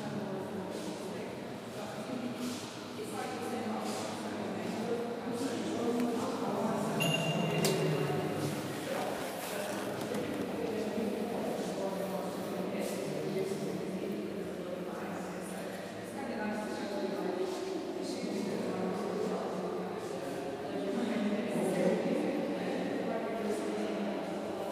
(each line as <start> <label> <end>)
0.0 blurry conversation 24.7